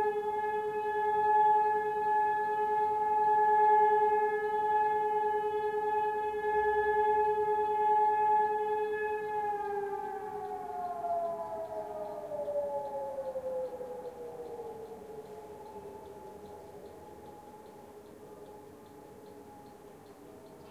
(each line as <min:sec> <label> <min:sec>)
0:00.0 All-clear signal 0:20.7